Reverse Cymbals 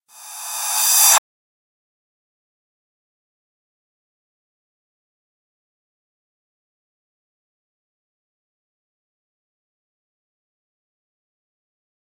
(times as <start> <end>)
0.1 1.2